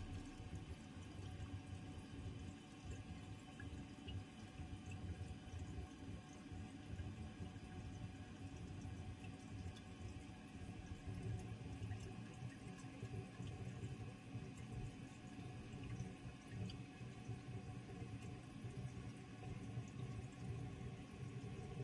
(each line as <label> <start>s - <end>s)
toilet 0.0s - 0.6s